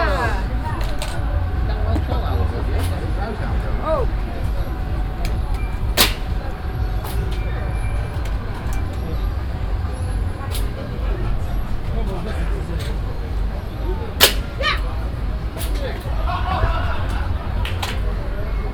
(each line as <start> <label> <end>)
0.0 music 18.7
0.0 people talking and having fun 18.7
5.4 pneumatic shots 9.0
6.0 targets got shot 7.4
10.4 pneumatic shots 11.0
14.2 pneumatic shots 14.9
14.2 targets got shot 14.6